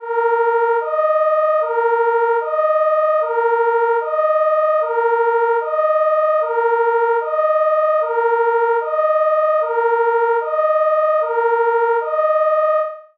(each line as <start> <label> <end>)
0.0 German Martinshorn (Emergency vehicle siren) 13.1